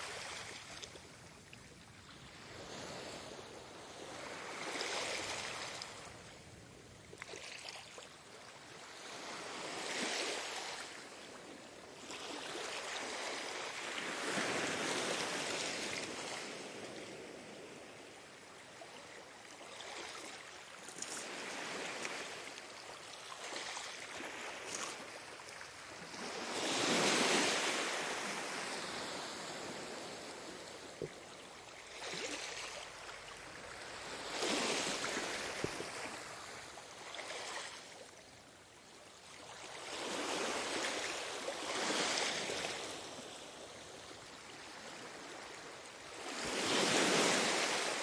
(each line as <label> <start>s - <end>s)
gentle waves on sand beach 0.0s - 48.0s